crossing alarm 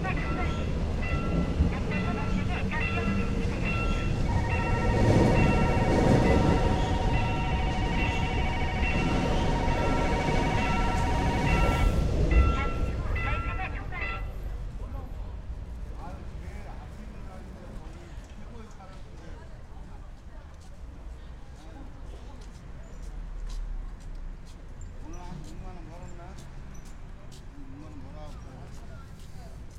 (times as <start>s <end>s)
0.0s 14.4s